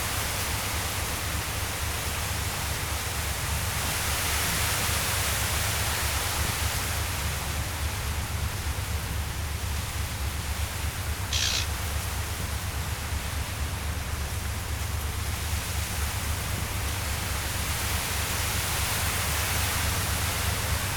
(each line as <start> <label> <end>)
10.2 Wind in the reeds 12.4
11.1 Eurasian reed warbler 12.0